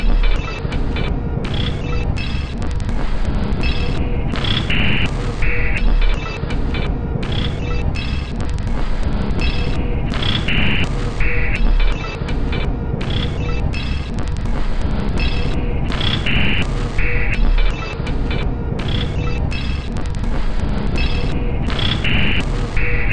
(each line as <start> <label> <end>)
0.0 Drum Loop 23.1